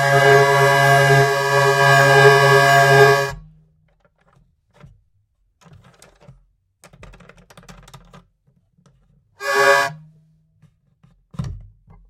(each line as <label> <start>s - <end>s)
hurdy-gurdy playing 0.0s - 3.4s
Tuning peg 0.0s - 3.4s
Tuning peg 9.4s - 9.9s
hurdy-gurdy playing 9.4s - 10.0s